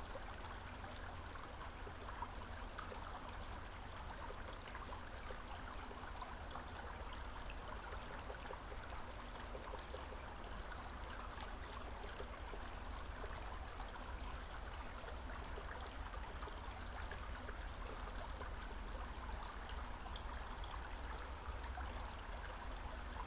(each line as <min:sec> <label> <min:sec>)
0:00.0 brook 0:23.2